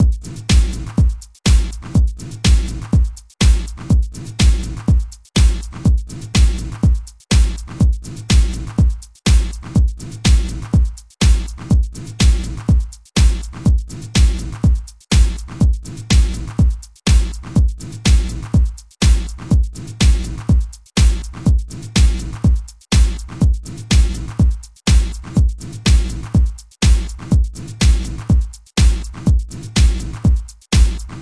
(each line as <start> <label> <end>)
0.0 trance beat 31.2